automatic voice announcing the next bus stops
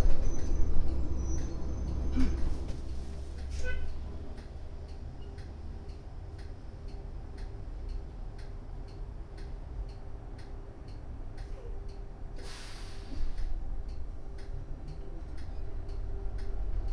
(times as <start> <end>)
3.5 4.2, 11.4 11.9